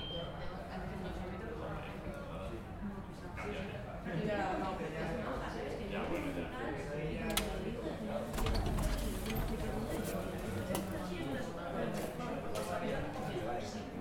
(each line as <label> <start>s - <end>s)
anti-theft system with the door open 8.2s - 10.5s
door opening 8.2s - 10.9s
Door slaming shut 8.3s - 10.0s